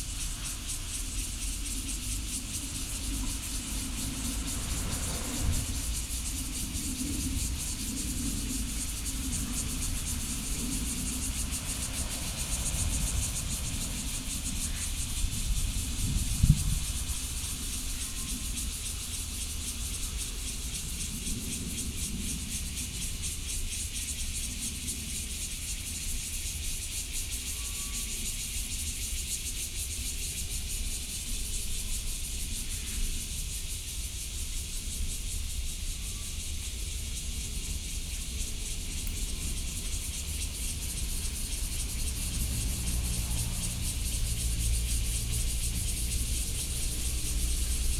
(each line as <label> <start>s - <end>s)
train traveling through 0.0s - 21.7s
Cicadas 0.0s - 47.9s
train traveling through 35.8s - 47.9s